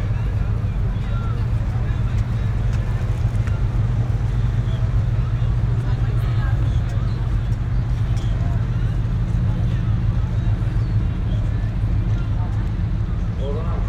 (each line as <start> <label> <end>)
0.0 tour boat 13.8